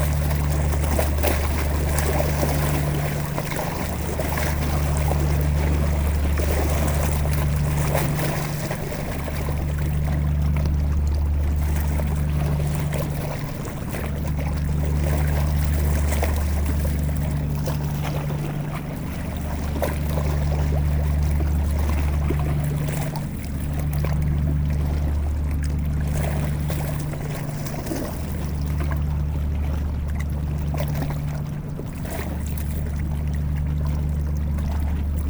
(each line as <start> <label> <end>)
0.0 enormous industrial boat is passing by 35.2